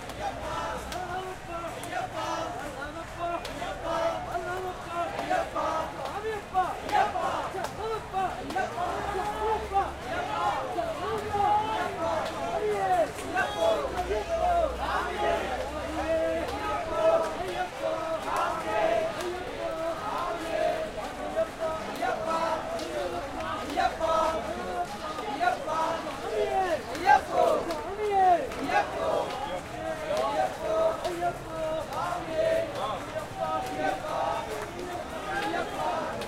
chant 0.0 - 36.2

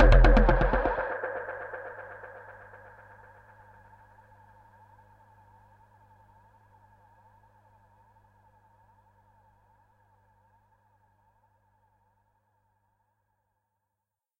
Percussion 0.0 - 4.0

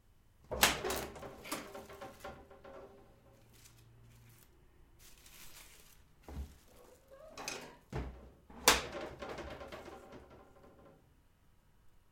kitchen cabinet 0.4 - 3.5
kitchen cabinet 6.1 - 11.1

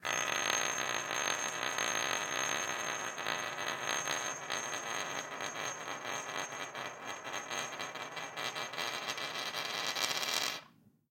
Ring spinning on a wooden table 0.0 - 10.8

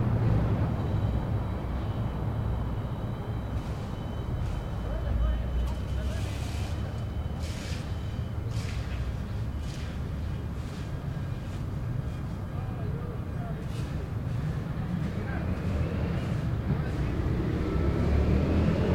people talking 4.8 - 7.8
people talking 12.4 - 17.4
Cars going by 14.0 - 18.9

